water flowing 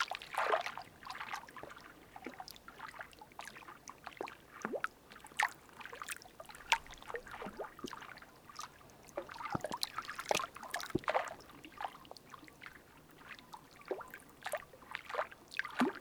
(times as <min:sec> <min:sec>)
0:05.2 0:16.0